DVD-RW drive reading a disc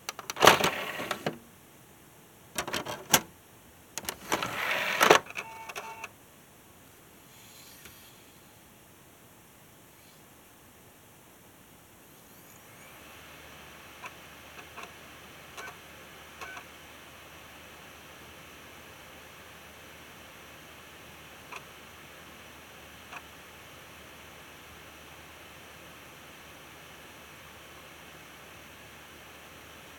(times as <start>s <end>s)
0.0s 1.4s, 4.0s 6.1s, 13.9s 16.8s